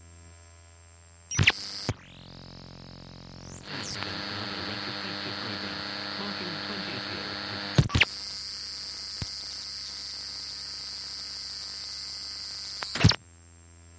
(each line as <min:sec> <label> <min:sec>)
0:01.3 Radio Noises & Blips 0:02.4
0:03.4 Radio Noises & Blips 0:08.2